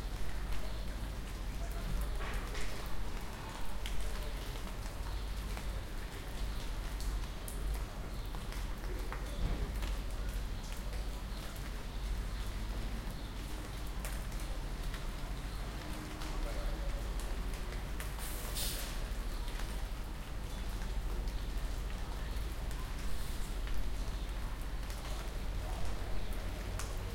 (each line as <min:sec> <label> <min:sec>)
0:00.0 Rain is dripping from the trees 0:27.1